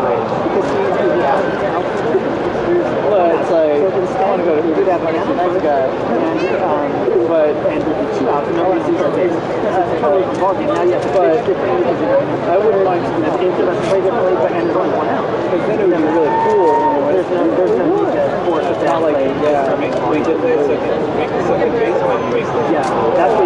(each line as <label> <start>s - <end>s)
baseball crowd sounds 0.0s - 23.4s